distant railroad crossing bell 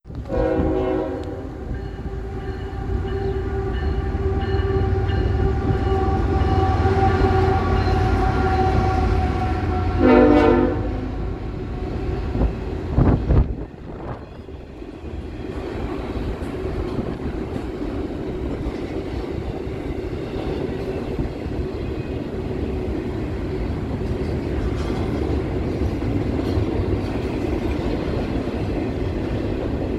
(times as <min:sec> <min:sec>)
0:01.0 0:12.6